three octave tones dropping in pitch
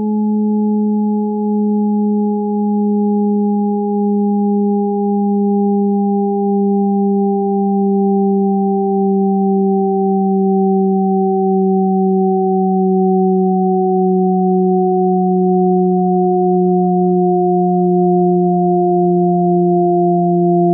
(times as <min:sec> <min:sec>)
0:09.5 0:20.7